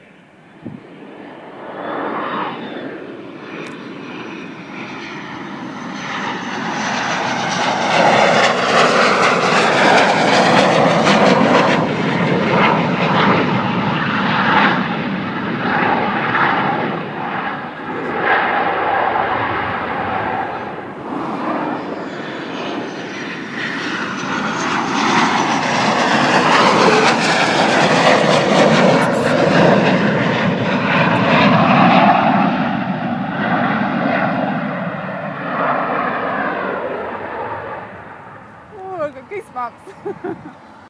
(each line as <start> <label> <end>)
0.0 aircraft coming in to land 40.8